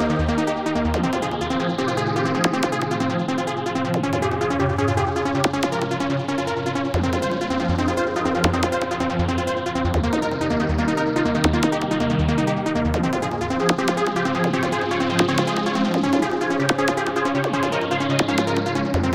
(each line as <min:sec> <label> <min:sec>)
0:00.2 underwater music 0:19.1